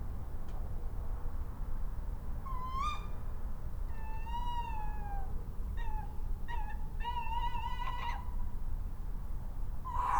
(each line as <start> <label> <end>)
2.3 Owls in the night 10.1